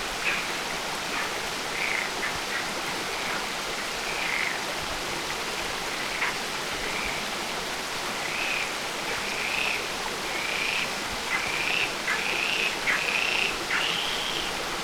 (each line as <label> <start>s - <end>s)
stream flow going in a very intricate way 0.0s - 14.8s
croaking frogs 1.8s - 2.6s